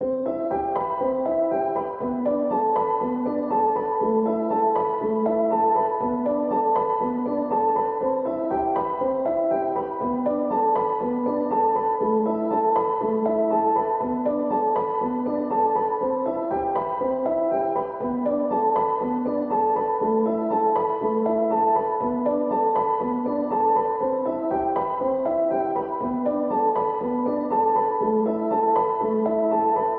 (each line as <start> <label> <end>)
0.0 piano 29.9